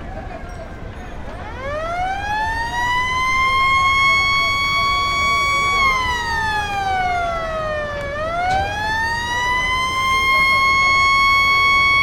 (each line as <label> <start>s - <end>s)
people 0.0s - 12.0s